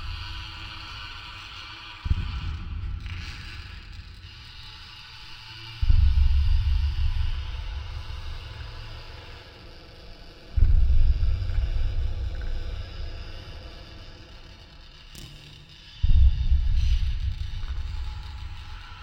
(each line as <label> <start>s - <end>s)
metallic creak with reverb 0.0s - 19.0s